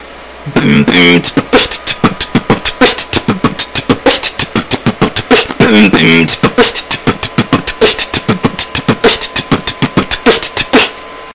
beatbox 0:00.4 - 0:11.0

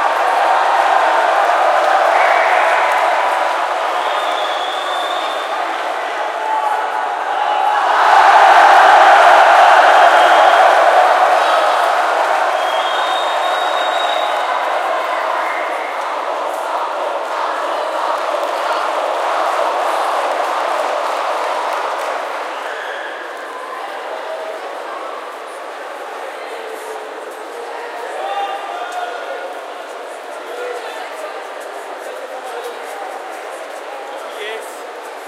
Crowd Cheering 0:00.0 - 0:25.6

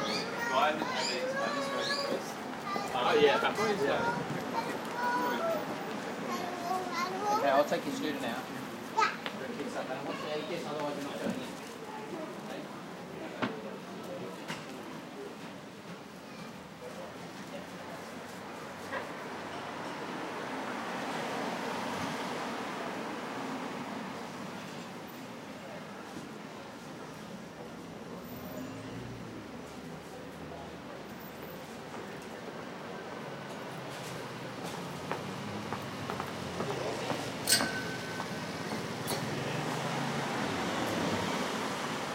families 0:00.0 - 0:23.1
bus 0:00.0 - 0:42.1
traffic passing by 0:00.0 - 0:42.1

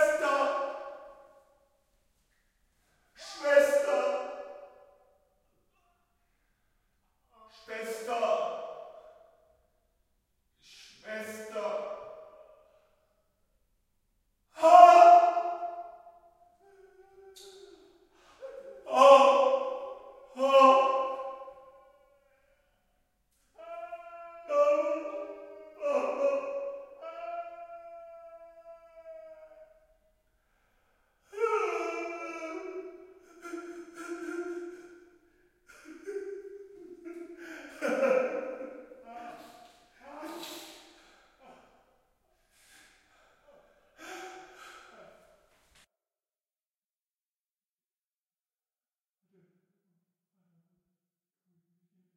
men crying in pain 0:23.6 - 0:29.6
men crying in pain 0:31.3 - 0:35.0
men crying in pain 0:35.7 - 0:40.8
men crying in pain 0:44.0 - 0:45.2

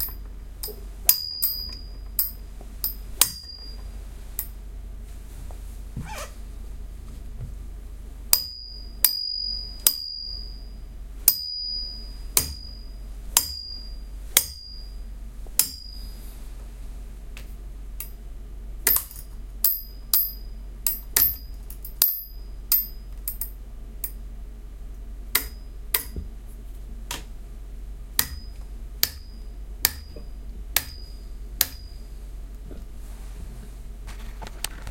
narrow metal light stand being struck with a metal coat hanger 0:00.0 - 0:03.8
narrow metal light stand being struck with a metal coat hanger 0:08.3 - 0:10.6
narrow metal light stand being struck with a metal coat hanger 0:11.3 - 0:12.8
narrow metal light stand being struck with a metal coat hanger 0:13.4 - 0:14.8
narrow metal light stand being struck with a metal coat hanger 0:15.6 - 0:16.0
narrow metal light stand being struck with a metal coat hanger 0:18.8 - 0:24.2
narrow metal light stand being struck with a metal coat hanger 0:25.4 - 0:26.2
narrow metal light stand being struck with a metal coat hanger 0:28.2 - 0:32.0

